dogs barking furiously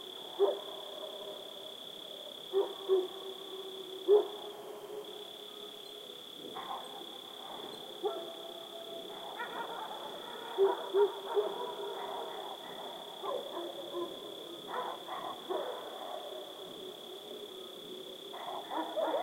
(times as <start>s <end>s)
9.2s 16.3s, 18.4s 19.2s